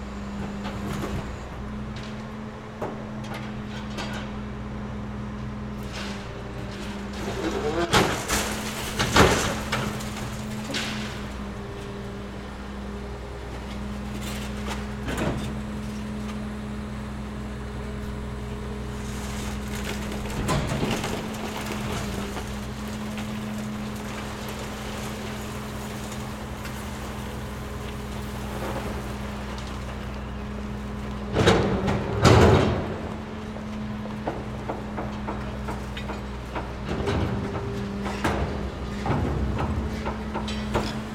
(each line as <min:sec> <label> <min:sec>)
0:05.8 Demolition truck destroying office furniture 0:11.7
0:18.9 Demolition truck destroying office furniture 0:30.4
0:31.3 Demolition truck destroying office furniture 0:41.1